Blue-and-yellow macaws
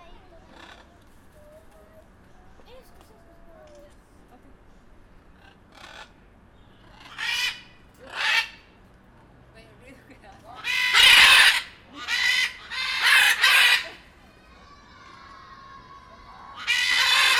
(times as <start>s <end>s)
0.4s 2.0s, 5.3s 8.8s, 10.5s 17.3s